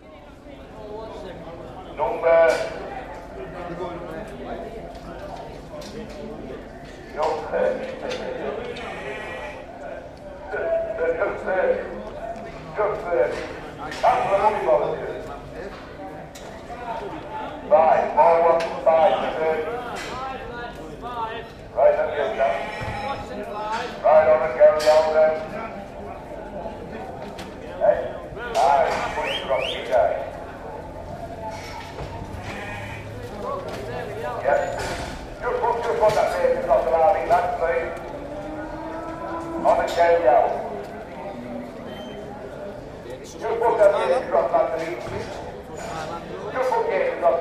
sheep auction 0:00.0 - 0:47.4

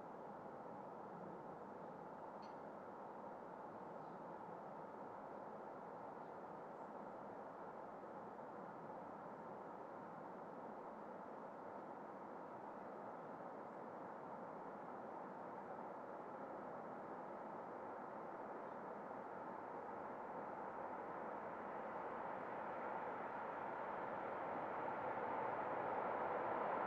Passing train approching the valley 0:19.3 - 0:26.8

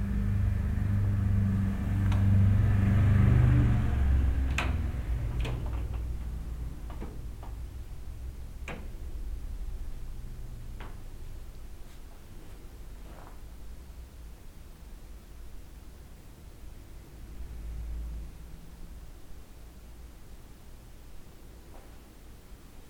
Cars 0:00.0 - 0:07.5

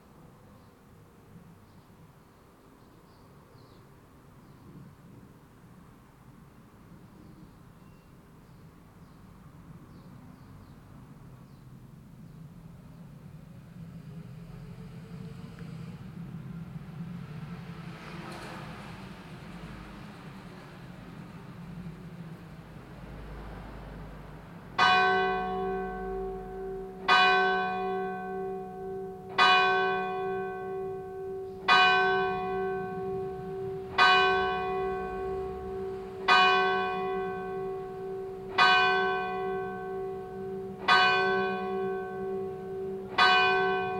distant cars 0:00.0 - 0:43.9
sparrows 0:01.6 - 0:04.8
sparrows 0:07.0 - 0:13.0
Bells 0:24.8 - 0:43.9

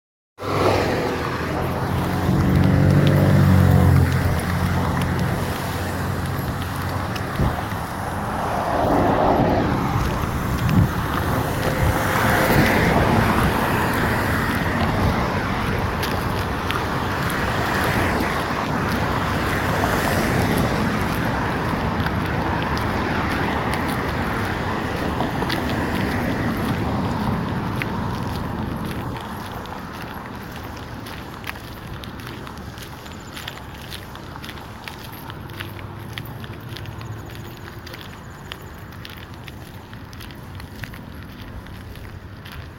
commercial district traffic 0:00.4 - 0:42.7

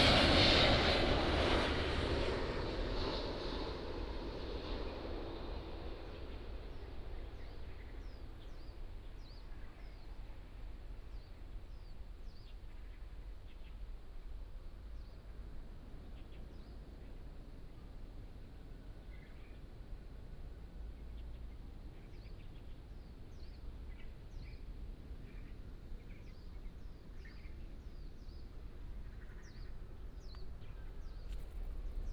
birds sound 0:21.0 - 0:32.1

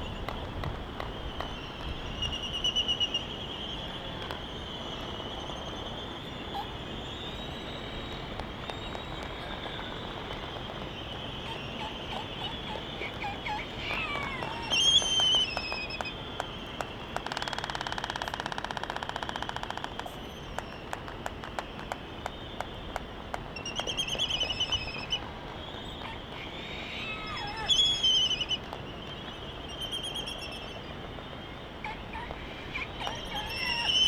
calls and bill clapperings 0:08.2 - 0:29.6
calls and bill clapperings 0:31.8 - 0:34.0

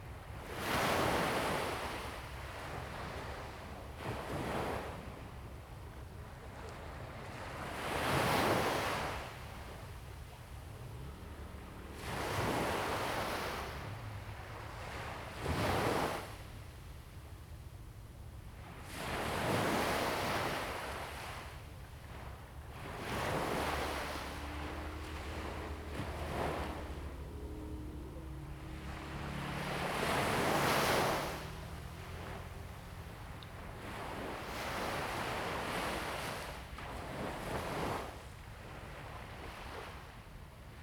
waves 0:00.0 - 0:40.8

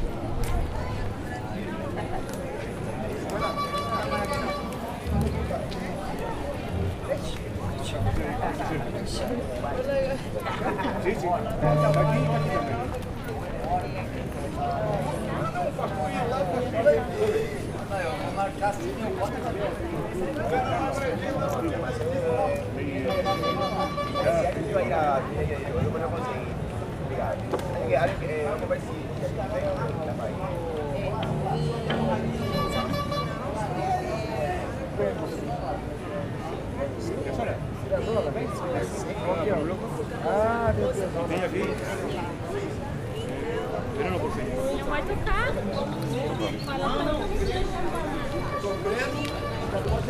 street musicians 0:02.7 - 0:18.3
street band reharsing 0:11.4 - 0:17.9
street musicians 0:22.9 - 0:24.8
street band reharsing 0:29.5 - 0:36.7
street musicians 0:29.6 - 0:36.0
people doing groceries 0:40.3 - 0:50.0

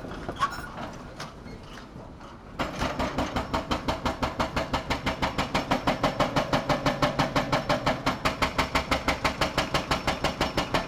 excavator with a pneumatic hammer crushing a concrete wall 0:02.3 - 0:10.8

